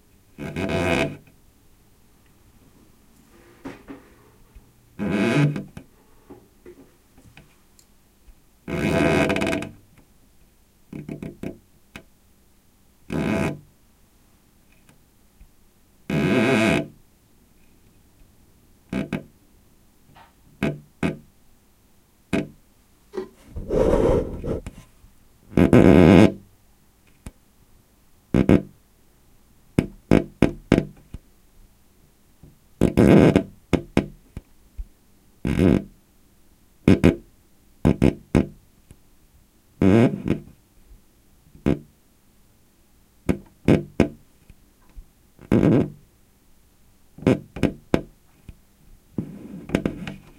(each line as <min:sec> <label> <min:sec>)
0:23.4 rubbing my dry finger across some old painted wood 0:24.9